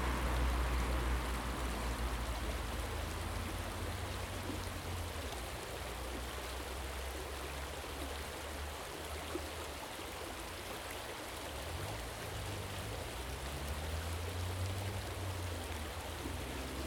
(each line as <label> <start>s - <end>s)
little water stream running down 0.0s - 16.8s